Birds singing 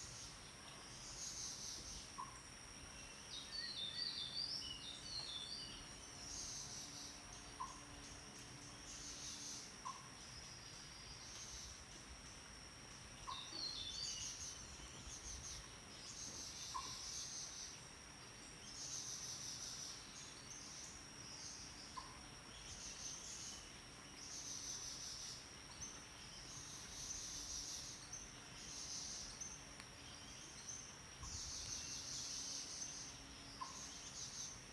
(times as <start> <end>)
13.2 34.7